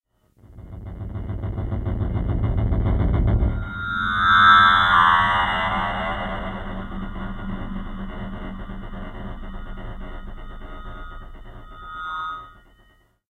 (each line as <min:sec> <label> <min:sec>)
0:00.4 low-pitched rumble 0:13.0
0:00.4 FM-like sweep that fades out 0:13.0